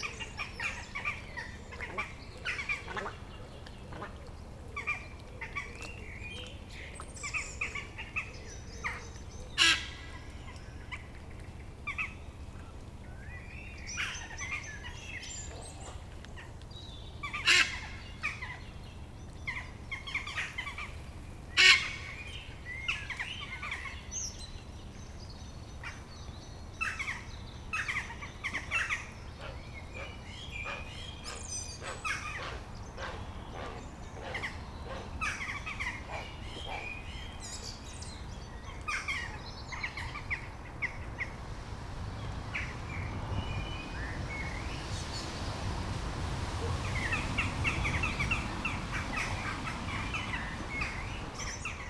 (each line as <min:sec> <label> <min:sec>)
0:00.0 Blackbirds 0:41.4
0:00.0 Little Egret 0:51.8
0:09.6 Ducks 0:10.0
0:27.8 Ducks 0:36.9
0:46.5 Blackbirds 0:51.8